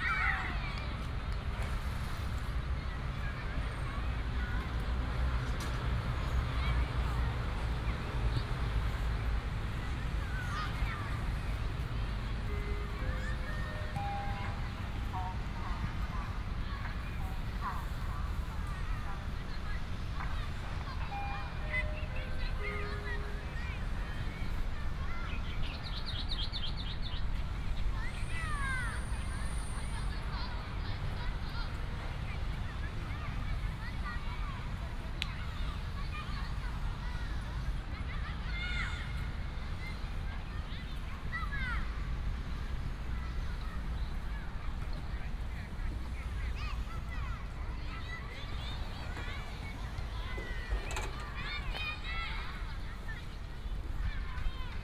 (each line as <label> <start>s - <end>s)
Traffic sound 0.0s - 54.8s
children play football 0.0s - 54.8s
birds sound 24.3s - 28.4s